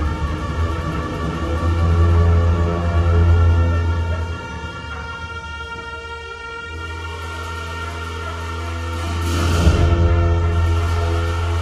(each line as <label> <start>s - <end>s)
Buddhist monks praying, chanting 0.0s - 11.6s
bells 0.0s - 11.6s
horns 0.0s - 11.6s
drums 6.8s - 11.6s